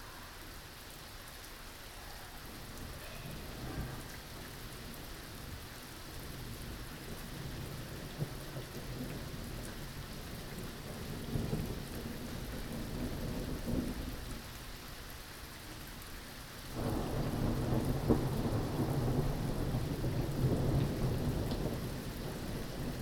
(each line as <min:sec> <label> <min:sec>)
0:00.0 rain that turns into hail 0:23.0
0:06.3 thunder 0:14.2
0:16.8 thunder 0:23.0